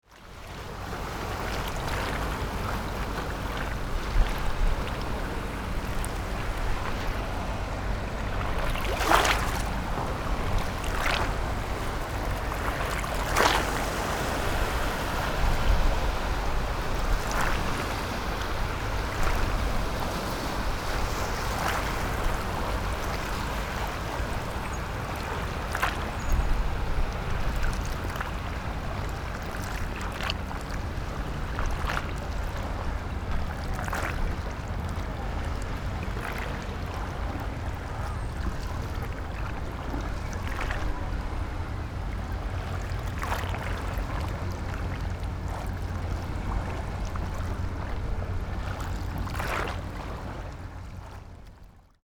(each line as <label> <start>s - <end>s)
wave 1.3s - 51.2s